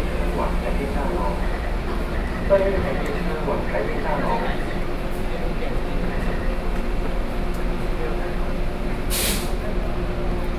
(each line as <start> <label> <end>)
0.0 train 10.5